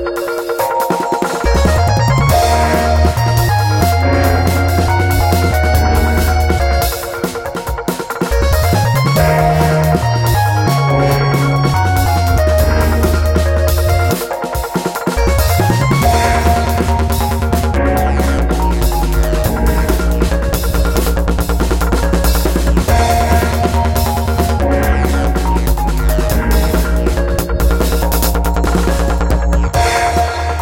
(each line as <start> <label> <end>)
0.0 Drums 30.6
0.0 synth 30.6
1.4 bassline 14.3
15.1 bassline 30.6